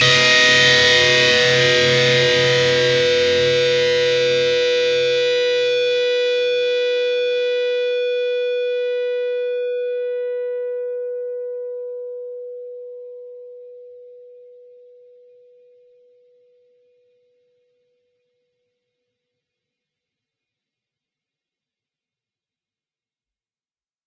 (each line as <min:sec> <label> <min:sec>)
0:00.0 distorted guitar 0:09.6